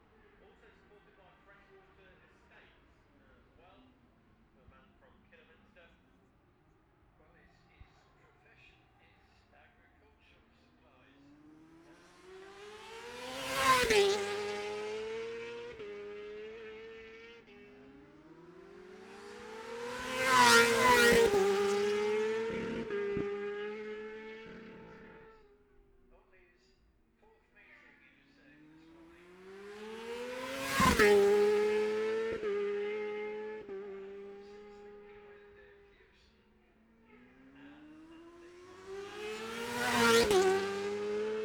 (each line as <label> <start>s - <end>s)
600cc qualifying 0.0s - 25.6s
600cc qualifying 27.6s - 41.4s